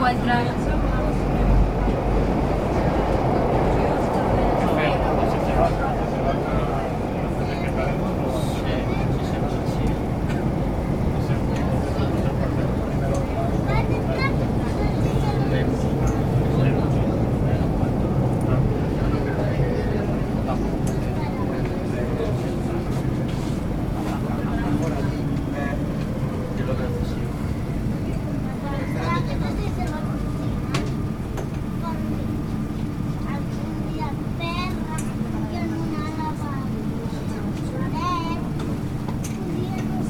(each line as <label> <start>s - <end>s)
metro 0.0s - 40.0s